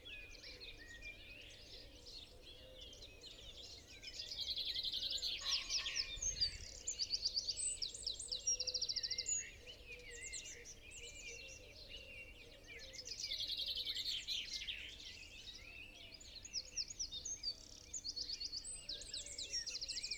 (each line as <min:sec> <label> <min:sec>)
0:00.0 pheasant 0:16.7
0:05.3 crow 0:06.3